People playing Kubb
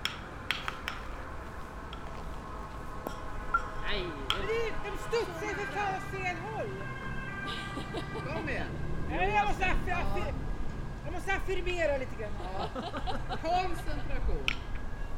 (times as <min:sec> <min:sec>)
0:00.0 0:01.2, 0:04.2 0:04.7, 0:14.4 0:14.8